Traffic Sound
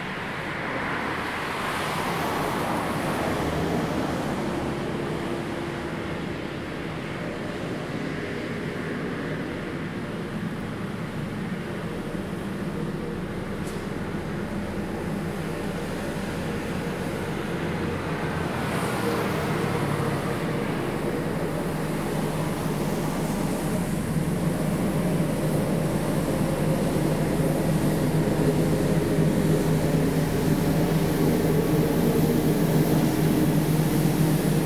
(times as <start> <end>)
10.4 34.6